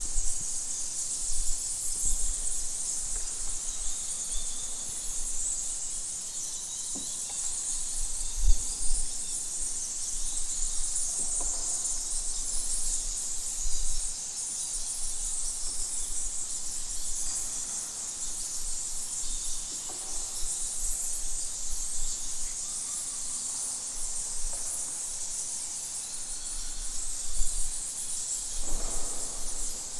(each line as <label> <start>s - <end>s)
bats flying and echoing 7.2s - 29.9s